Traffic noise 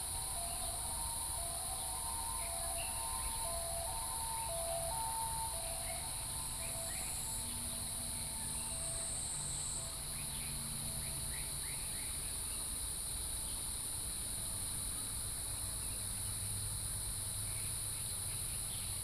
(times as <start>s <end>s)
0.0s 12.5s